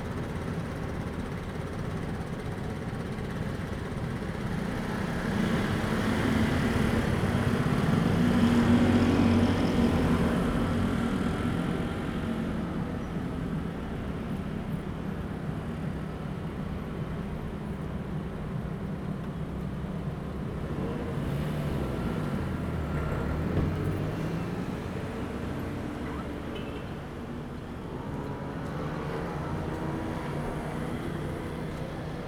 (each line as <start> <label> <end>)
19.3 Traffic Sound 32.2